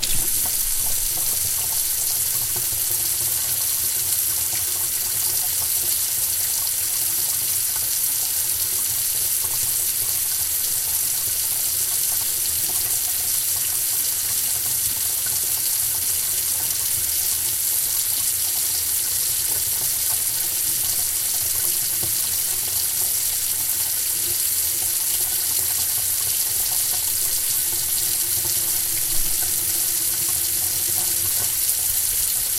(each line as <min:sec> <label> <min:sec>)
0:00.0 water spraying into metal sink 0:03.3
0:26.6 water spraying into metal sink 0:32.5